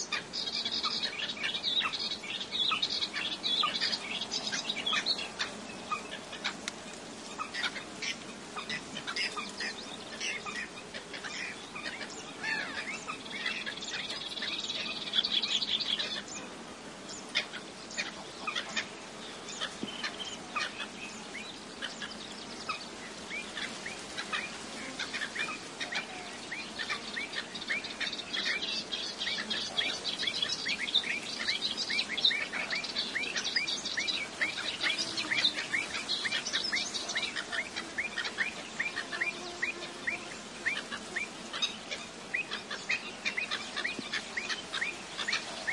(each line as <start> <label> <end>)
0.0 Common Coot 16.5
0.0 Melodious Warbler 45.7
0.0 insect buzzings 45.7
17.3 Common Coot 21.0
21.8 Common Coot 45.7
23.5 Black-winged Stilt 45.7